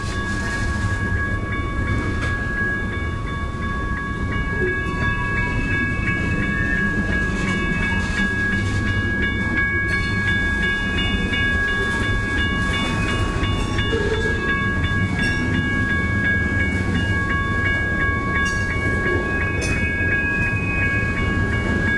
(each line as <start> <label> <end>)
0.0 clanging of bells 21.9
0.0 train passed by 21.9